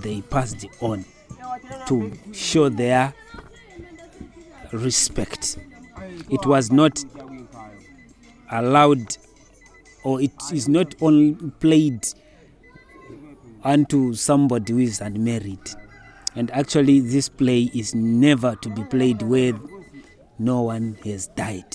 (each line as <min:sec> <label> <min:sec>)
0:00.0 English summary of the interview 0:21.7